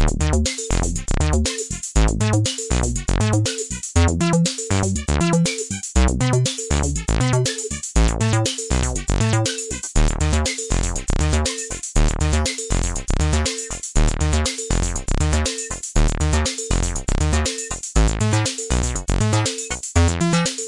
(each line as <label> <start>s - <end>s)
drum 0.0s - 20.6s
synthesizer 0.0s - 20.6s